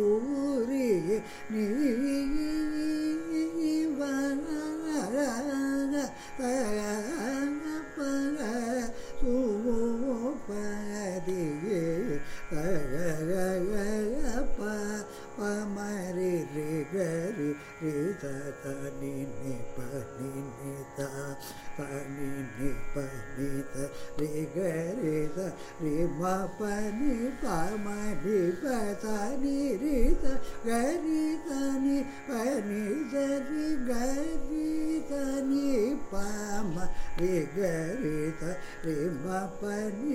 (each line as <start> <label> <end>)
0.0 Carnatic varnam 40.1